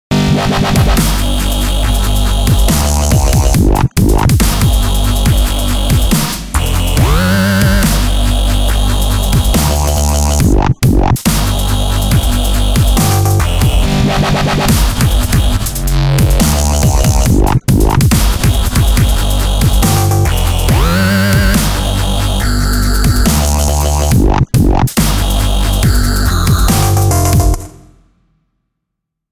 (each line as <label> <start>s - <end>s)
bass 0.0s - 28.2s
synth 0.1s - 28.0s
hats 0.8s - 14.0s
snare 2.6s - 3.4s
snare 4.4s - 4.9s
snare 6.1s - 8.2s
snare 9.4s - 10.4s
snare 11.3s - 11.8s
snare 13.0s - 13.6s
hats 14.6s - 27.7s
snare 16.4s - 17.2s
snare 18.1s - 22.0s
snare 23.2s - 24.0s
snare 25.0s - 25.7s
snare 26.7s - 27.7s